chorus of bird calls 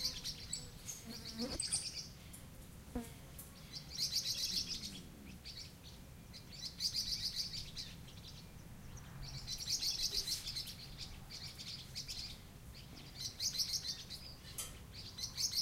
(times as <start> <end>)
3.4 15.6